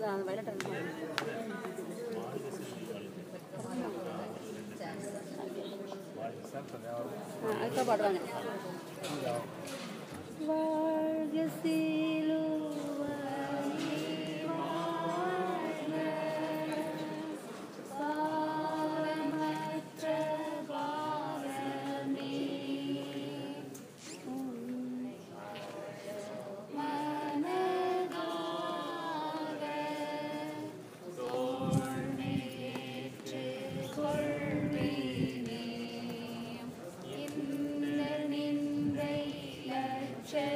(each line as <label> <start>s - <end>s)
Pilgrim chanting 10.4s - 40.5s